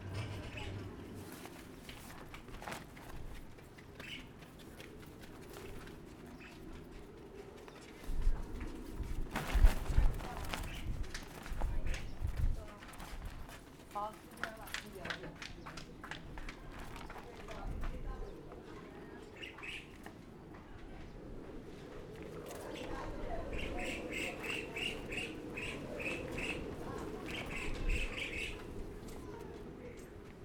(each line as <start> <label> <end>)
0.0 wind 30.4